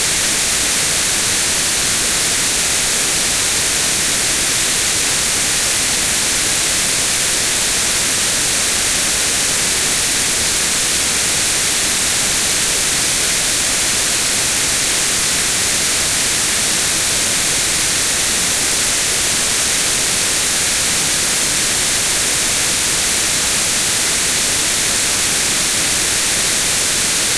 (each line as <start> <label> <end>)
0.0 White Noise 27.3